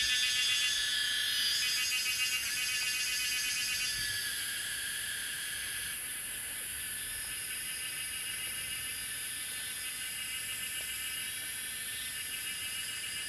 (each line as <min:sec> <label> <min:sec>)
0:00.0 Cicadas called 0:06.1